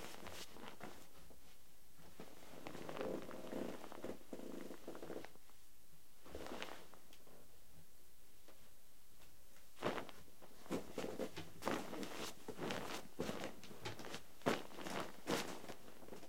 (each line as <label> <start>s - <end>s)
Walking on a bed 9.8s - 16.2s